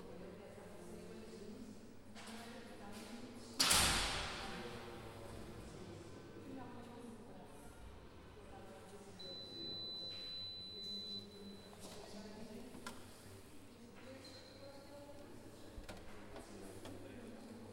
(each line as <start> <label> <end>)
4.2 Máquina de Café 17.7